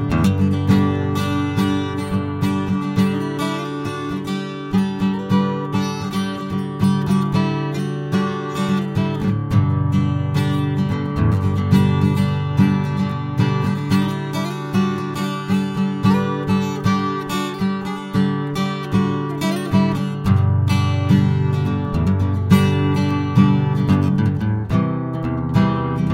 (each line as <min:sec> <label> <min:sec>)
0:00.0 acoustic-guitar 0:26.1